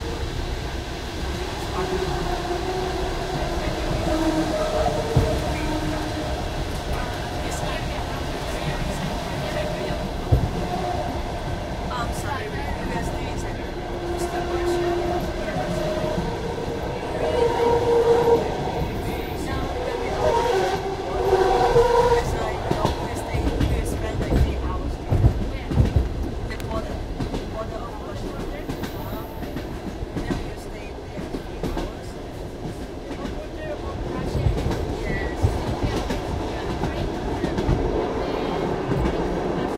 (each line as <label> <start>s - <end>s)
train chatter 0.0s - 39.7s
Tuneful train whistle 20.1s - 22.4s